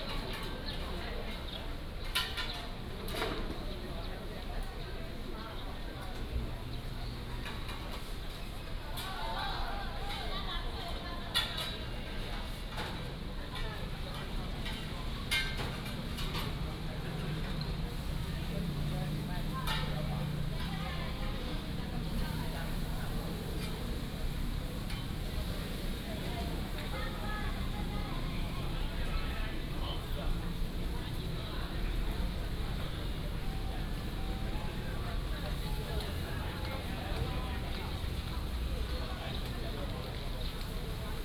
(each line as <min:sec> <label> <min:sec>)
0:14.0 tourist 0:41.2